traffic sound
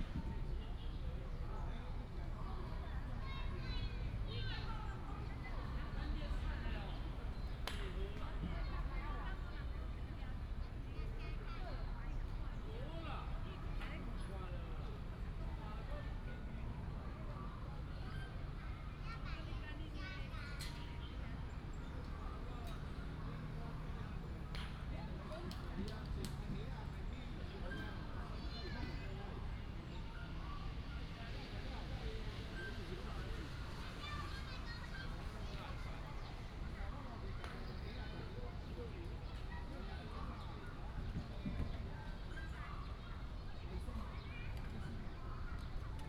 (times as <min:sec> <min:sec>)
0:18.8 0:46.0